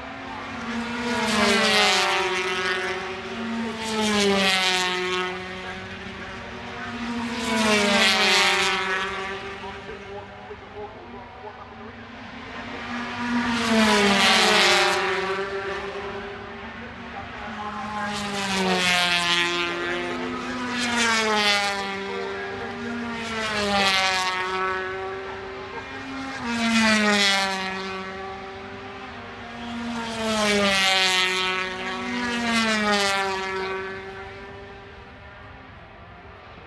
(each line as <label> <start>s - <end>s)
Motorcycle Grand Prix 0.0s - 36.6s